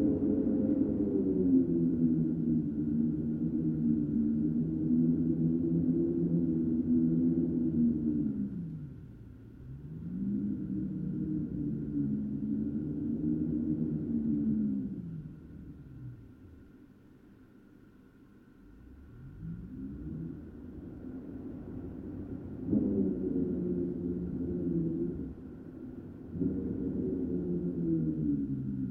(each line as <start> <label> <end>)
0.0 howling polar wind 16.7
19.0 howling polar wind 28.9